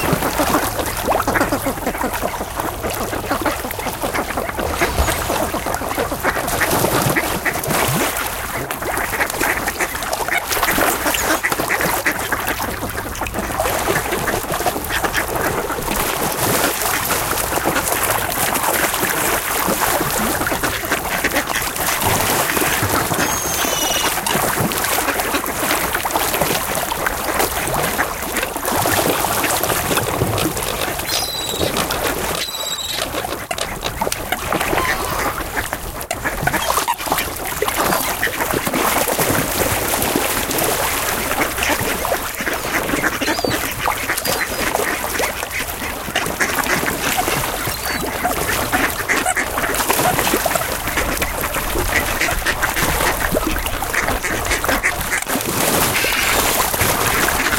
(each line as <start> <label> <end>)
0.0 Carp Fish Feeding Frenzy 57.5
0.0 ducks 57.5
0.0 splash 57.5
22.8 seagulls 24.4
31.0 seagulls 35.7
36.3 seagulls 38.3
42.8 seagulls 45.0
47.1 seagulls 49.4
55.8 seagulls 56.7